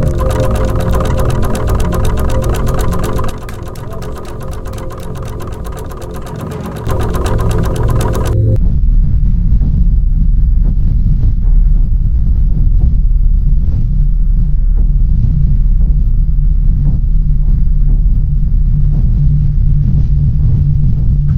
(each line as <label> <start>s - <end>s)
Warp genedator 0.0s - 8.6s